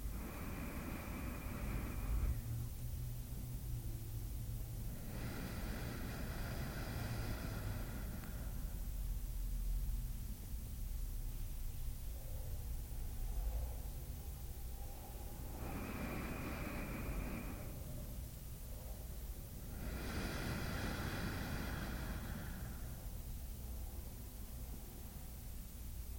Woman taking six slow, deep breaths 0.0 - 9.3
very faint traffic noise 0.0 - 26.1
Woman taking six slow, deep breaths 12.6 - 23.9

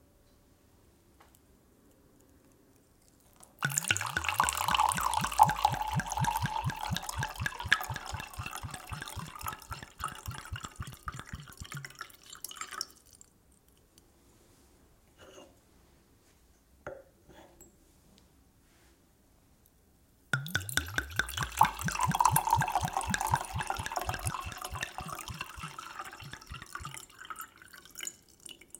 Pouring liquid from wine bottle into glass 3.6 - 13.3
Pouring liquid from wine bottle into glass 20.4 - 28.7

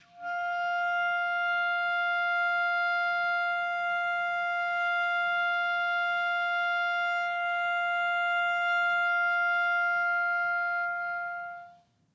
clarinet 0.0 - 12.0

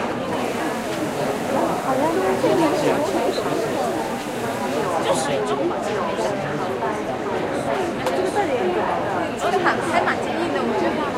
Large Crowd 0.0 - 11.1

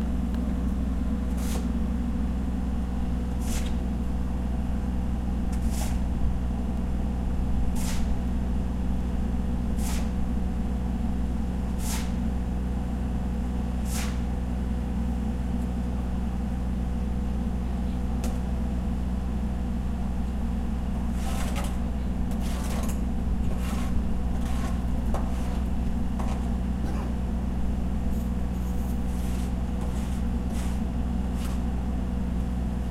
construction works 0.0 - 32.9

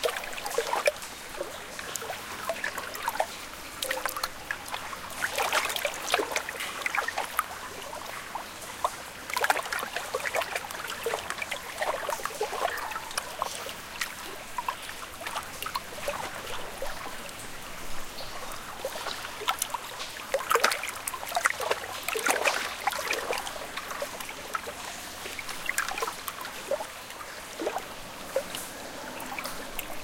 water 0.0 - 30.0

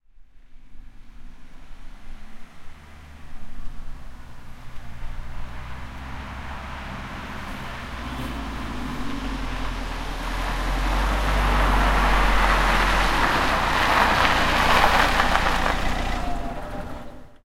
Diesel car drives from the distance 0.4 - 17.4
gravel 0.6 - 17.4
engine stops 4.8 - 17.4

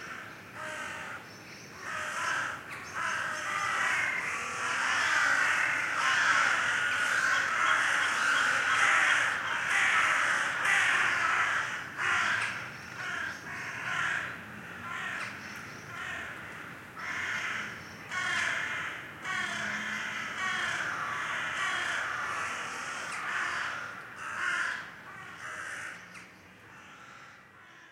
Crows 0.0 - 27.9

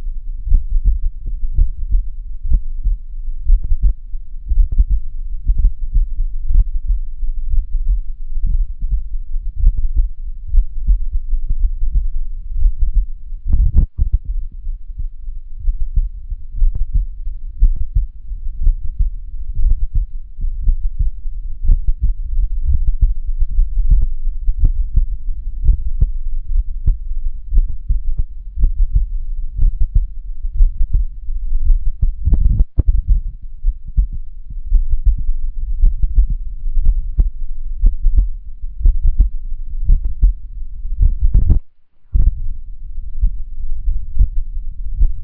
heartbeat 0.0 - 45.2

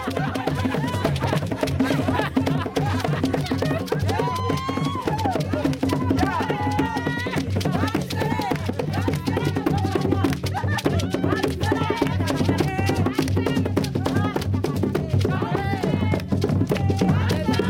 singing 3.6 - 17.6

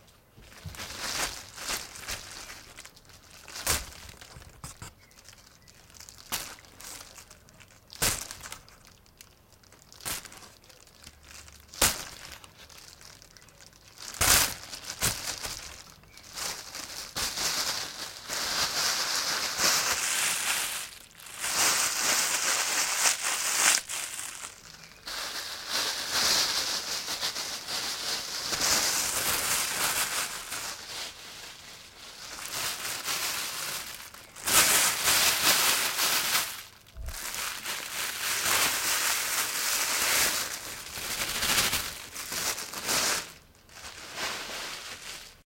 Plastic bag crinkling 0.0 - 45.4

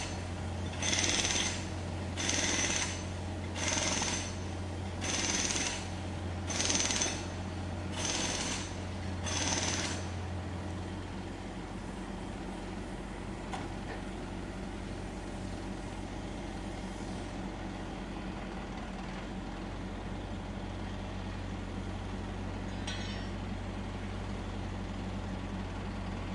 Jackhammer 0.0 - 4.4
Road Works 0.0 - 14.2
Jackhammer 5.0 - 5.9
Jackhammer 6.5 - 7.3
Jackhammer 7.9 - 10.1

